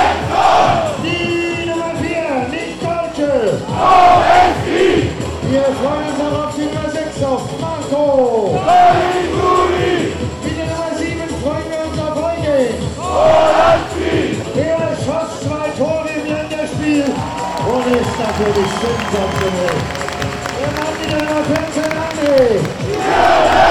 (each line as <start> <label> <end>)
14.6 stadium commentator introducing the teams 23.7
17.0 footbal fans 23.7